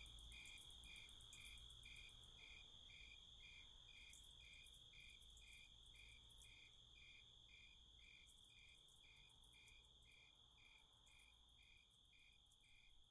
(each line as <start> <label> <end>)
0.0 crickets 13.1